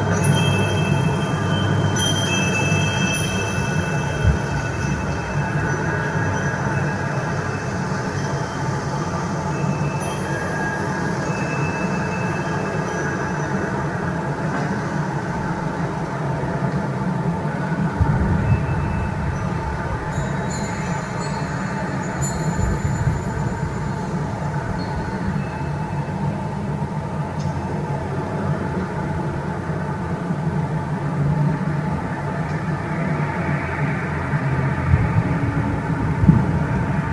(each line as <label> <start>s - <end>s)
windchimes 0.0s - 15.9s
Wind 0.0s - 37.1s
windchimes 17.8s - 27.8s